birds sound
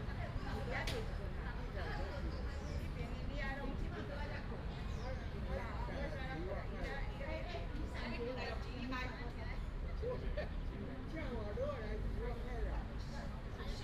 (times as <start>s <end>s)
4.7s 5.5s